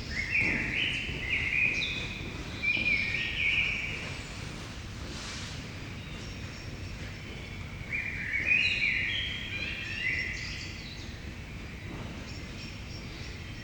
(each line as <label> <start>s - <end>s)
footsteps 0.0s - 8.9s
blackbird 0.0s - 13.6s